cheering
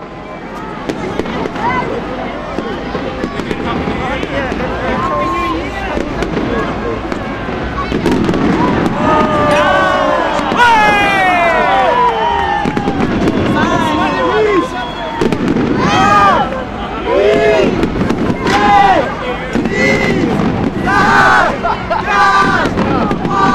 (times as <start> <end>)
8.0 23.5